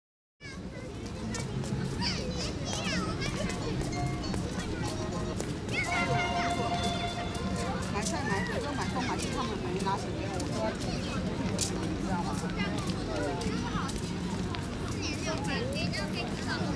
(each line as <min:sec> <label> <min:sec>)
0:00.4 Children 0:16.7